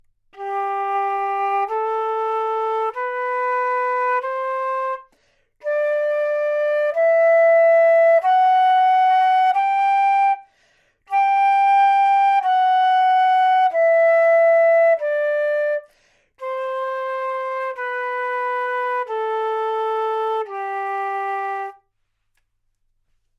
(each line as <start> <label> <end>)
0.3 flute 21.9